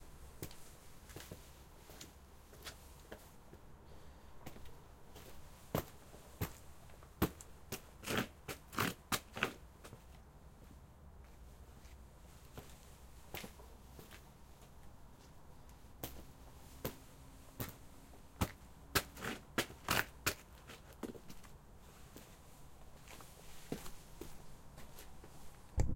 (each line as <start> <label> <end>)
0.4 walking 3.7
4.4 walking 25.7
17.6 Shoes cleaning 21.5